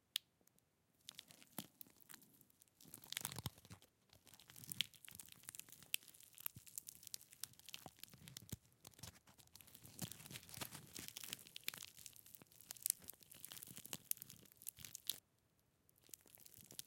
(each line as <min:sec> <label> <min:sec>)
0:01.0 Crushing by hand a large seed pod 0:15.2
0:16.0 Crushing by hand a large seed pod 0:16.8